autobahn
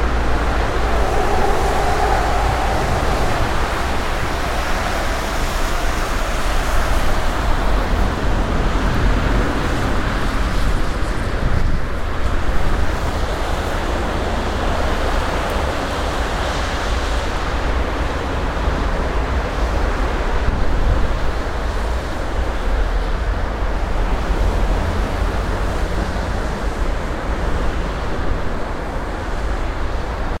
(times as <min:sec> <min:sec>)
0:00.0 0:09.9